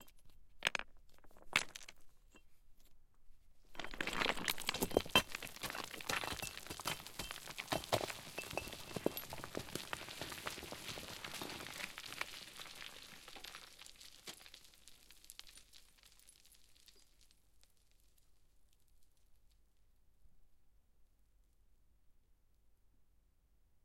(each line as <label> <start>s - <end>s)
small and large stones falling down a hill 0.0s - 2.4s
small and large stones falling down a hill 3.7s - 19.6s